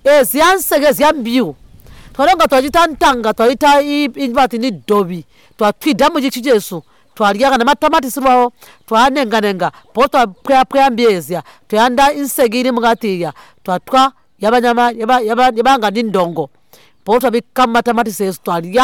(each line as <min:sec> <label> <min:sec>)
0:00.0 interviews 0:18.8